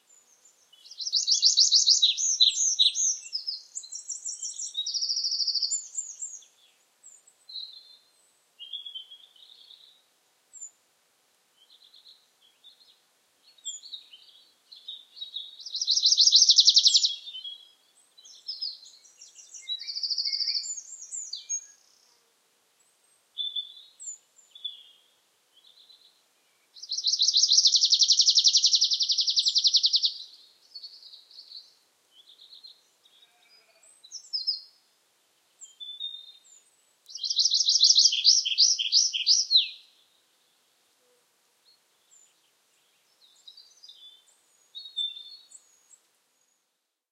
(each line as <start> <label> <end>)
0.0 Willow Warbler quite close 10.8
11.6 Willow Warbler quite close 22.2
22.8 Willow Warbler quite close 46.7